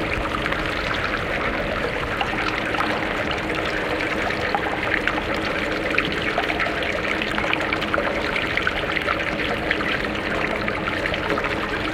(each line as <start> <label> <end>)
0.0 Dripping 11.9
0.0 Water flowing through the drainpipe 11.9